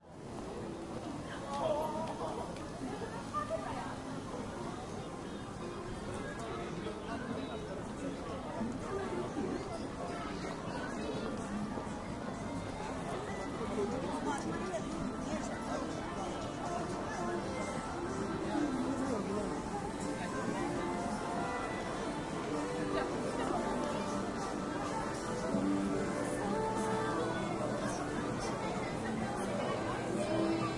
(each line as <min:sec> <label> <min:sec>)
0:01.3 voice 0:30.7
0:07.6 music 0:30.7